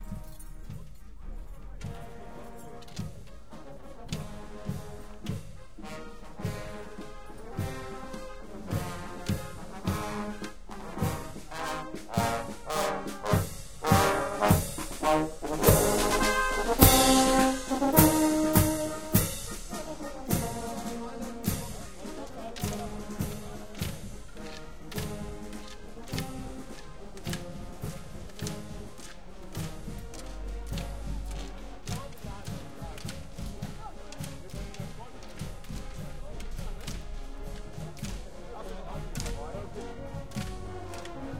MARCHING MUSIC PARADE 0:00.0 - 0:41.3
drum 0:00.0 - 0:41.3

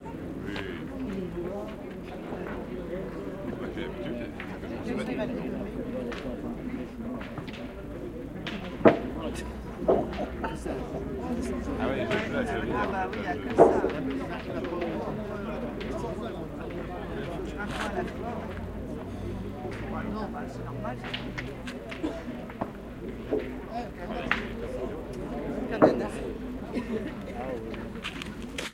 voices of the players 0:00.0 - 0:28.7
boules hitting each other and the backboard 0:07.2 - 0:18.8

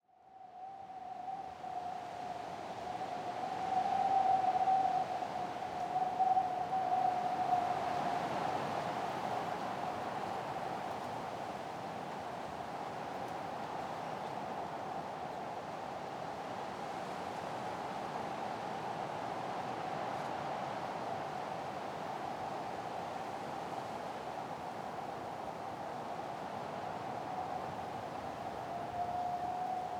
blowing wind in forest 0:00.3 - 0:29.9

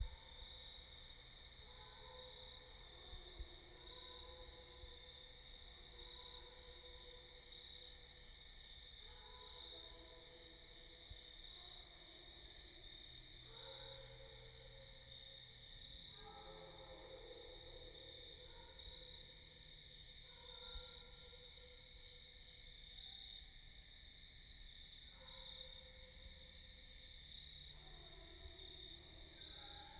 Crickets 0:00.0 - 0:29.9
dogs making creepy howling, barking sounds 0:13.4 - 0:21.8
dogs making creepy howling, barking sounds 0:27.7 - 0:29.9

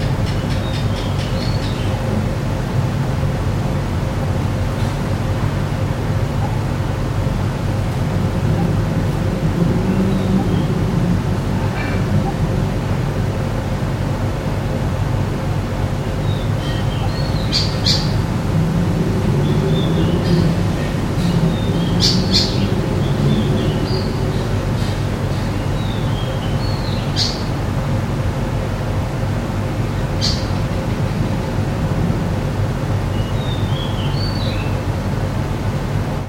birds 0:00.0 - 0:02.3
traffic 0:00.0 - 0:36.2
birds 0:16.0 - 0:27.6
birds 0:29.9 - 0:31.3
birds 0:33.0 - 0:34.9

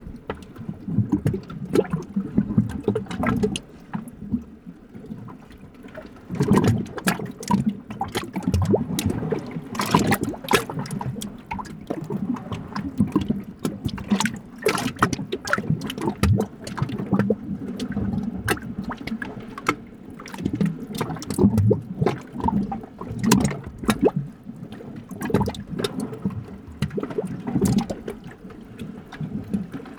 boiling cauldron 0:06.2 - 0:19.2

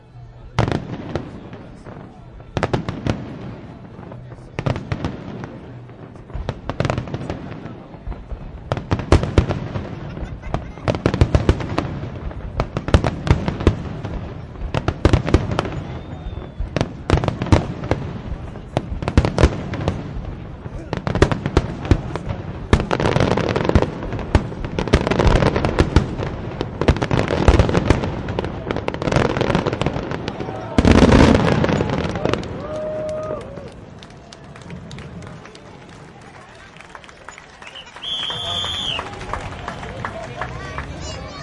fireworks climax +slapback echo reflection1 0:00.0 - 0:36.7

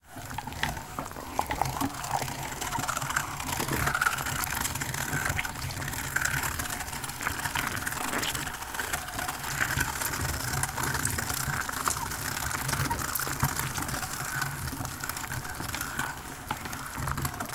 mechanical, old meat grinder grinding 0:00.0 - 0:17.5

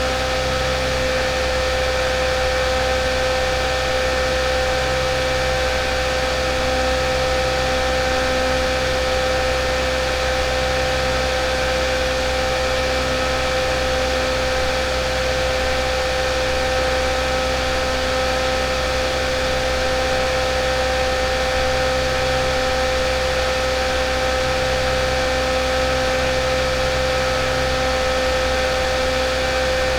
Personal battery powered fan 0:07.5 - 0:29.9

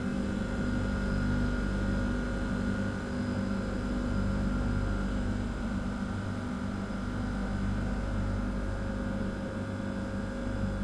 noise of a ultra-freezer 0:00.0 - 0:10.8

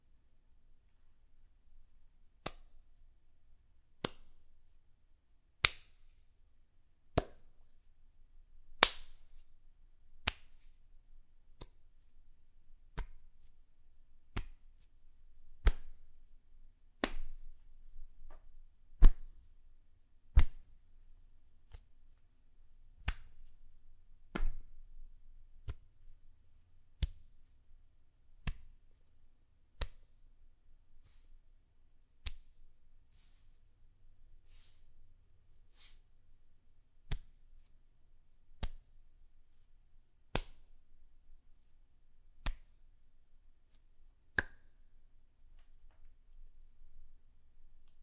gentle skin on skin interactions such as grabbing, slight slapping 0:02.4 - 0:02.9
gentle skin on skin interactions such as grabbing, slight slapping 0:04.0 - 0:04.5
gentle skin on skin interactions such as grabbing, slight slapping 0:05.6 - 0:06.2
gentle skin on skin interactions such as grabbing, slight slapping 0:07.1 - 0:07.8
gentle skin on skin interactions such as grabbing, slight slapping 0:08.8 - 0:09.5
gentle skin on skin interactions such as grabbing, slight slapping 0:10.2 - 0:10.8
gentle skin on skin interactions such as grabbing, slight slapping 0:11.6 - 0:12.1
gentle skin on skin interactions such as grabbing, slight slapping 0:12.9 - 0:13.6
gentle skin on skin interactions such as grabbing, slight slapping 0:14.3 - 0:15.0
gentle skin on skin interactions such as grabbing, slight slapping 0:15.6 - 0:16.2
gentle skin on skin interactions such as grabbing, slight slapping 0:17.0 - 0:19.5
gentle skin on skin interactions such as grabbing, slight slapping 0:21.6 - 0:22.2
gentle skin on skin interactions such as grabbing, slight slapping 0:23.0 - 0:23.6
gentle skin on skin interactions such as grabbing, slight slapping 0:24.3 - 0:24.7
gentle skin on skin interactions such as grabbing, slight slapping 0:25.6 - 0:26.0
gentle skin on skin interactions such as grabbing, slight slapping 0:27.0 - 0:27.4
gentle skin on skin interactions such as grabbing, slight slapping 0:28.4 - 0:29.0
gentle skin on skin interactions such as grabbing, slight slapping 0:29.8 - 0:30.2
gentle skin on skin interactions such as grabbing, slight slapping 0:32.2 - 0:33.7
gentle skin on skin interactions such as grabbing, slight slapping 0:34.4 - 0:35.0
gentle skin on skin interactions such as grabbing, slight slapping 0:37.0 - 0:37.8
gentle skin on skin interactions such as grabbing, slight slapping 0:38.5 - 0:39.7
gentle skin on skin interactions such as grabbing, slight slapping 0:40.3 - 0:40.8
gentle skin on skin interactions such as grabbing, slight slapping 0:42.4 - 0:42.8

